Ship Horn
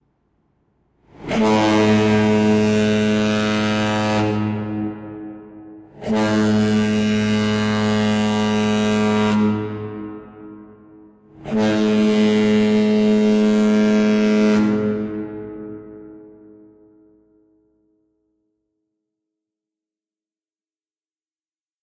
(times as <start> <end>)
1.1 17.9